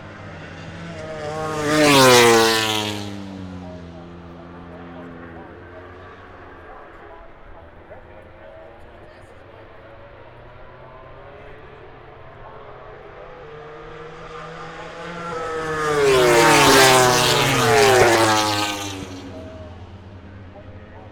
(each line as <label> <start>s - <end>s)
moto grand prix 0.0s - 21.1s